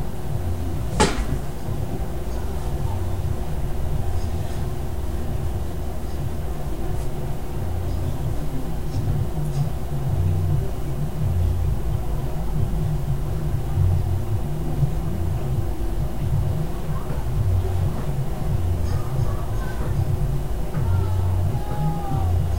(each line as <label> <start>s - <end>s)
air conditioner 0.0s - 22.5s
kids playing outside 0.0s - 22.5s
neighbors' stereo 0.0s - 22.5s
traffic 0.0s - 22.5s
tromping around and hitting the walls 0.3s - 22.5s
screaming 20.8s - 22.5s